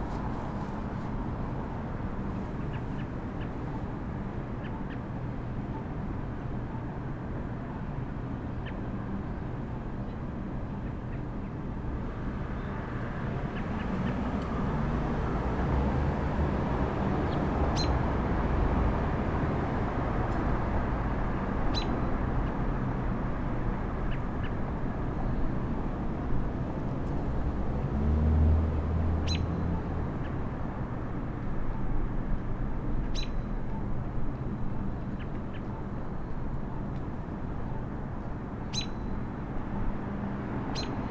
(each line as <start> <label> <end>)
0.0 a few cars 41.1
21.7 birds 22.6
29.2 birds 30.5
33.0 birds 34.0
38.6 birds 39.2
40.7 birds 41.1